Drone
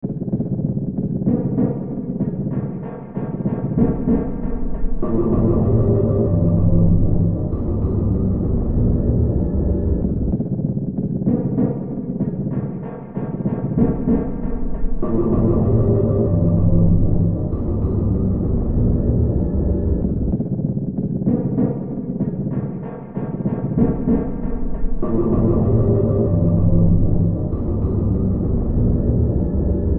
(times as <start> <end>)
3.8 10.5, 13.8 20.5, 23.8 29.9